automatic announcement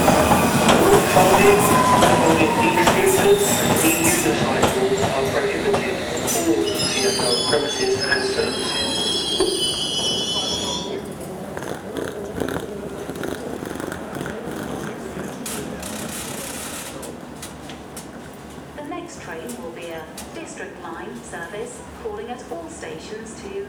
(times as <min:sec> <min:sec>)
0:00.0 0:17.4